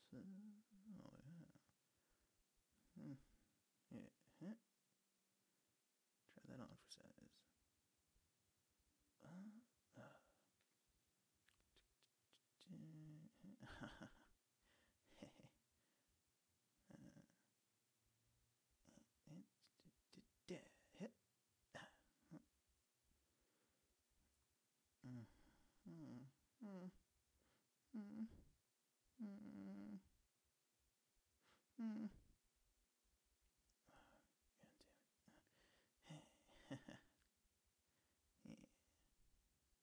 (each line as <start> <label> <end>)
0.0 Comical male grunts and mumbling 1.7
2.9 Comical male grunts and mumbling 4.6
9.2 Comical male grunts and mumbling 10.4
12.6 Comical male grunts and mumbling 14.3
15.1 Comical male grunts and mumbling 15.6
16.8 Comical male grunts and mumbling 17.4
18.8 Comical male grunts and mumbling 22.5
25.0 Comical male grunts and mumbling 27.0
28.0 Comical male grunts and mumbling 28.4
29.2 Comical male grunts and mumbling 30.1
31.8 Comical male grunts and mumbling 32.2
36.0 Comical male grunts and mumbling 37.2
38.4 Comical male grunts and mumbling 38.8